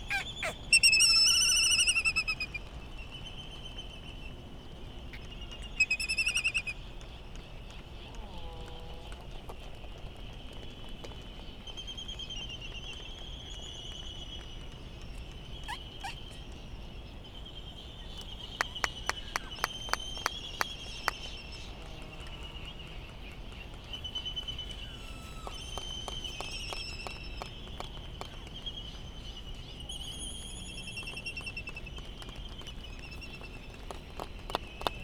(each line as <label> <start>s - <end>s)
laysan calls 0.0s - 2.8s
white tern calls 0.0s - 2.6s
laysan calls 15.1s - 16.9s
white tern calls 15.6s - 16.4s
laysan calls 18.0s - 35.0s